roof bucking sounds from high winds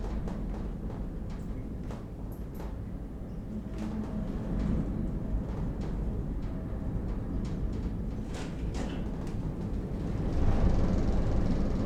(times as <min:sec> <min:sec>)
0:03.9 0:11.8